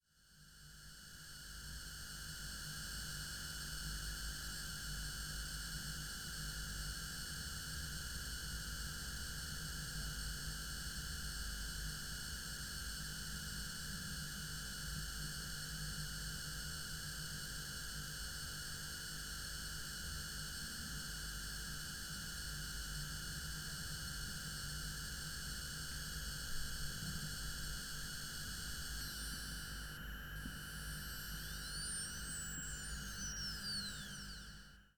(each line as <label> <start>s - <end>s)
two laptop power supplies 28.5s - 34.8s